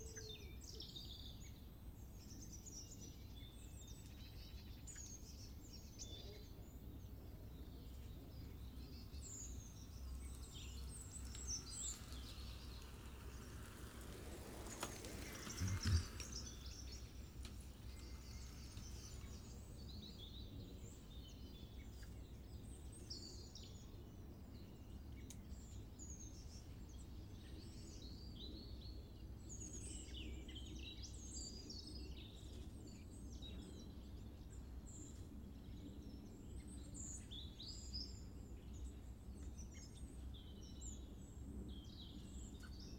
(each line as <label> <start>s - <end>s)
birds 0.0s - 42.9s
trains 9.8s - 19.7s
people 13.9s - 16.4s